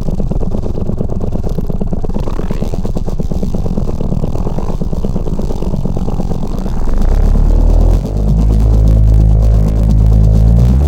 0.0s weird engine like sound 10.8s

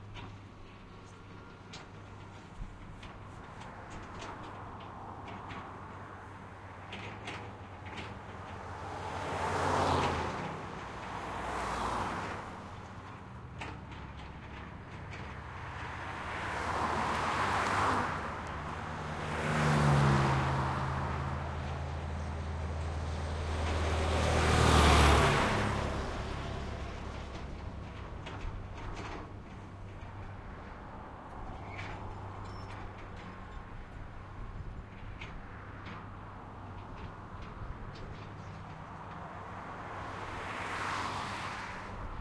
0.0s big trucks passing 42.2s
0.0s traffic 42.2s
0.0s tractor's frame rattling 42.2s

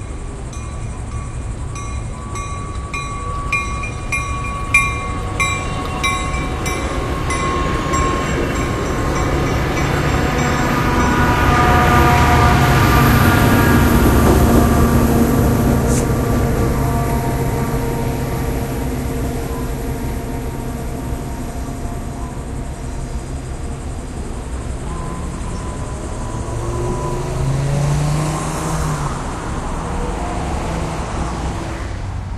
0.0s Tri-rail train passing through intersection 32.3s
0.0s traffic 32.3s

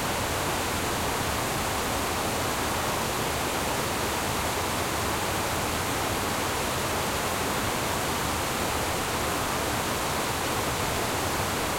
0.0s Water streams on a dam beetween two ponds 11.7s

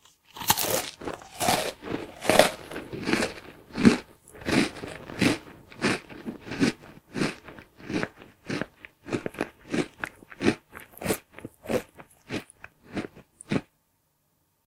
0.0s Munching Food 13.7s

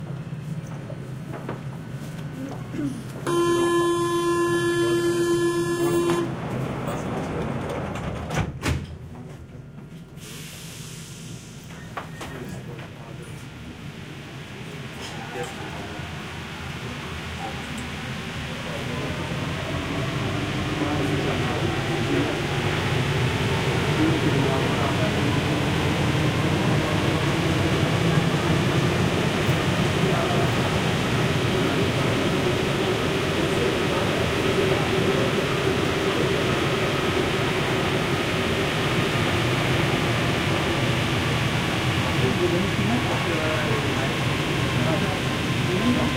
0.0s metro going 46.1s

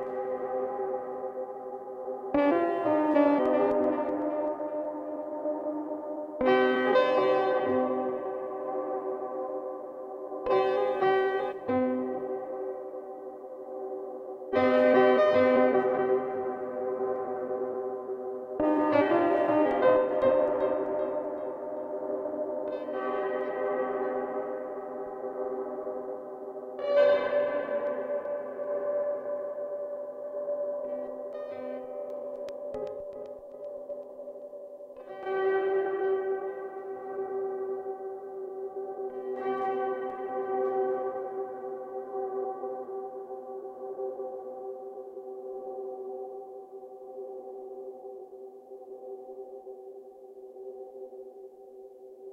2.1s Piano Loop 37.6s

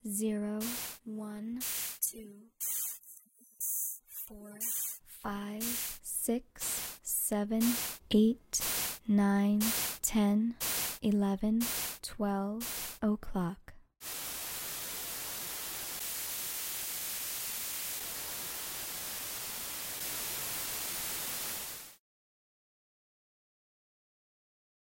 0.0s recorded voice says each hour 13.8s
0.6s white noise 1.0s
4.6s white noise 5.0s
5.6s white noise 6.0s
6.6s white noise 7.0s
7.6s white noise 8.0s
8.6s white noise 9.0s
10.6s white noise 11.0s
11.6s white noise 12.0s
12.6s white noise 13.0s
14.0s white noise 22.0s

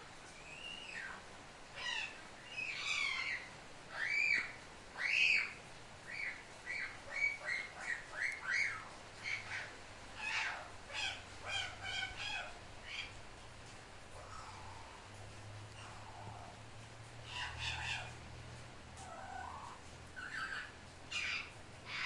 0.0s rain 22.0s
0.4s Parrot 1.2s
1.8s Parrot 13.2s
14.1s Parrot 15.1s
15.7s Parrot 16.6s
17.2s Parrot 18.2s
19.0s Parrot 22.0s

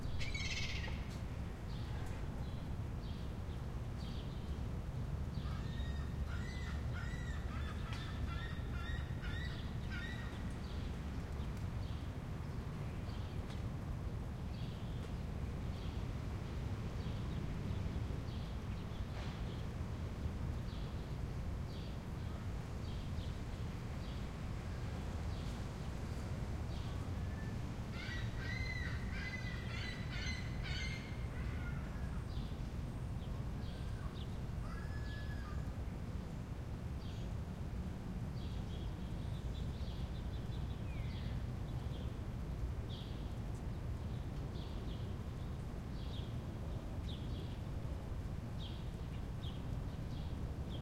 5.4s birds 12.0s
26.8s birds 32.6s

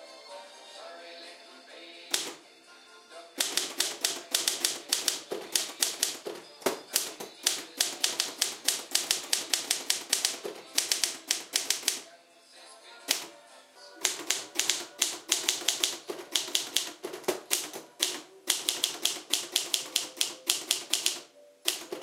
0.0s vintage Music plays in background 22.0s
2.1s typewriter 2.4s
3.4s typewriter 12.0s
13.1s typewriter 13.3s
14.0s typewriter 22.0s

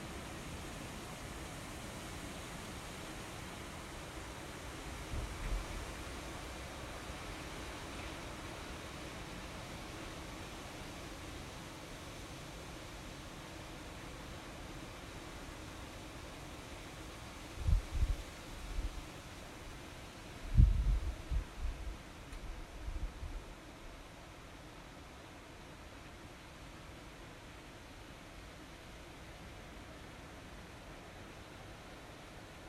0.0s Wind through trees 32.6s

